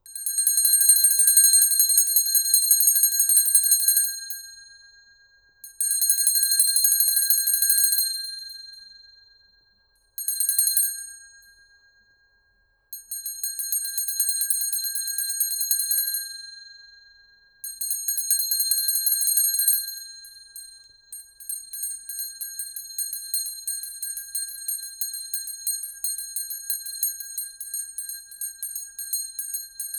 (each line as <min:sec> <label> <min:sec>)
0:00.1 medium hand bell ringing 0:04.6
0:17.7 medium hand bell ringing 0:29.9